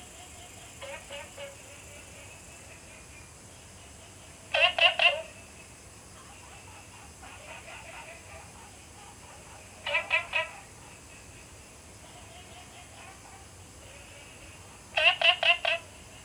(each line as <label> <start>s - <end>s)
Insect sounds 0.0s - 16.2s
Frog calls 4.5s - 5.5s
Frog calls 6.2s - 16.2s